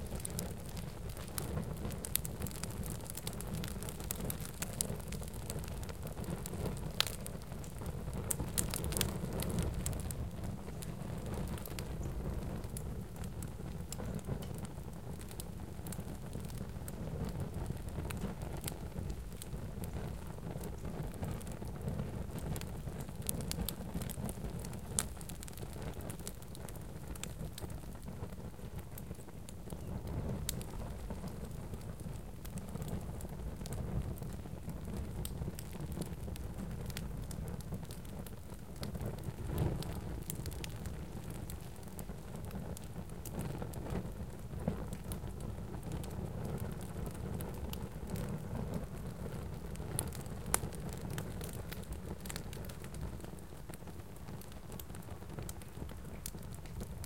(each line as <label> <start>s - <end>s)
small fire crackling 0.0s - 57.0s